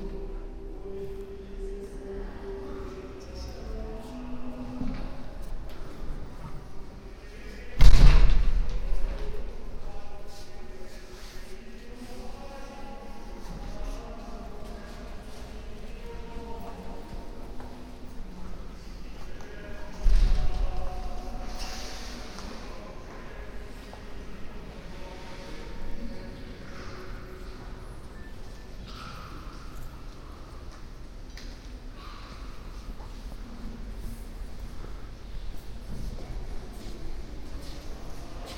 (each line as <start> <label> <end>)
0.0 monk singing 31.0
9.0 steps of visitors 38.5